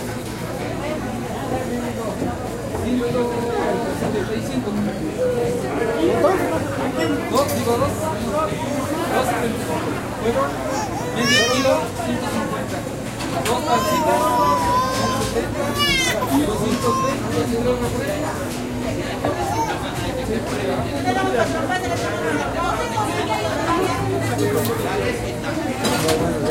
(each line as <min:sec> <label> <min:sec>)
0:13.5 talking 0:17.5